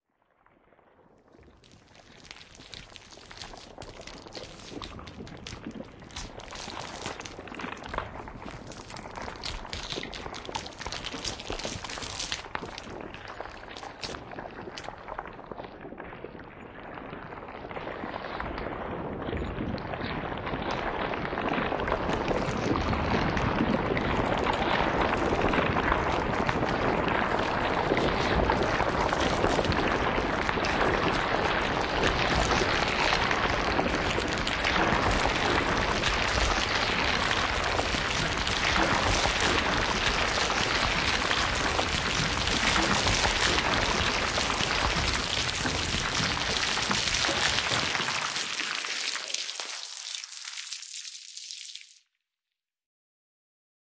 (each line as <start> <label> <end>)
0.3 water 52.0
1.4 cauliflower compilation3 15.1
27.2 cauliflower compilation3 52.0